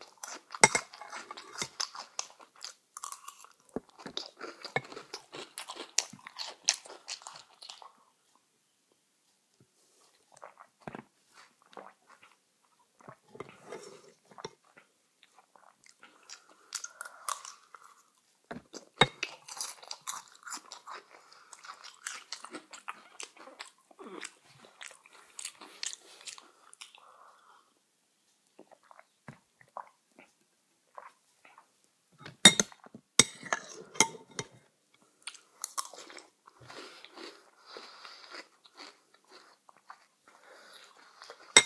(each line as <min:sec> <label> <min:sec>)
0:00.0 eating cereal 0:08.4
0:00.6 spoon 0:01.8
0:10.0 eating cereal 0:27.8
0:32.3 eating cereal 0:41.6
0:32.4 spoon 0:34.6